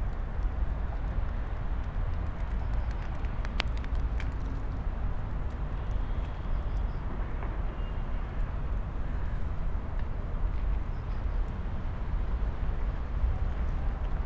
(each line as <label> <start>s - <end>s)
traffic hum 1.8s - 5.0s